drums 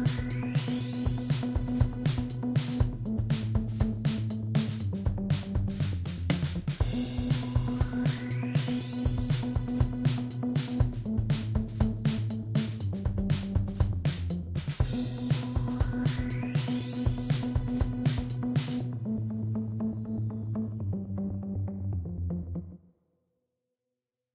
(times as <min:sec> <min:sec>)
0:00.0 0:19.0